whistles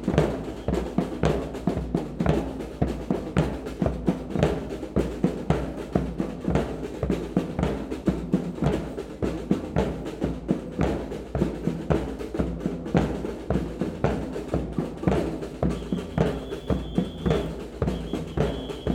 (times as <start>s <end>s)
0.3s 1.1s, 15.6s 18.9s